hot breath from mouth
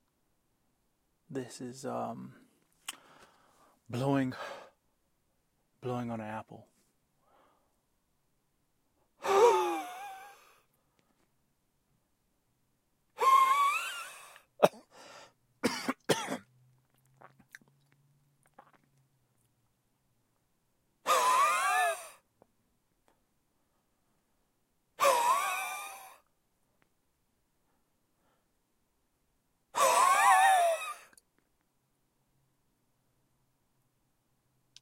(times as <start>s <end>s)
14.9s 15.4s